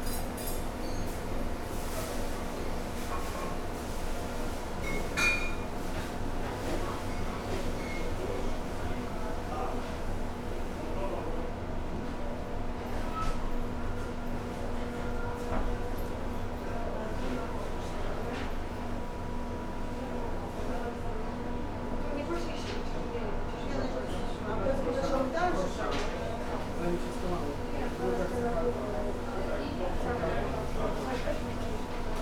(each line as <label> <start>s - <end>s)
staff conversations 5.0s - 12.6s
beep of the convection oven 7.2s - 8.2s
staff conversations 13.3s - 32.2s